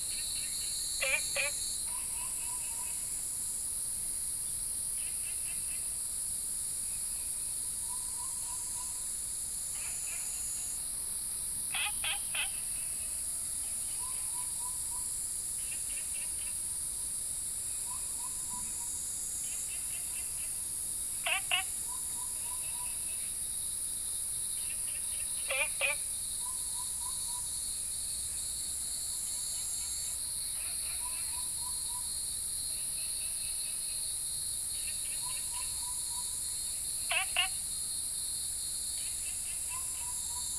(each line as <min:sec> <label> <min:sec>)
0:00.0 Cicadas cry 0:40.5
0:00.1 Frogs chirping 0:03.1
0:11.7 Frogs chirping 0:13.2
0:21.2 Frogs chirping 0:23.3
0:24.6 Frogs chirping 0:27.6
0:34.8 Frogs chirping 0:37.6